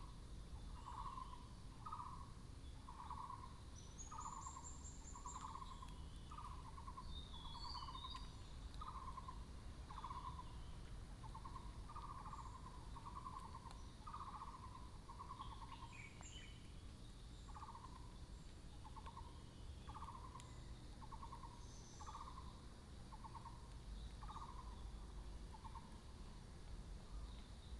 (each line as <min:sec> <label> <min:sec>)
0:00.5 Bird sounds 0:26.4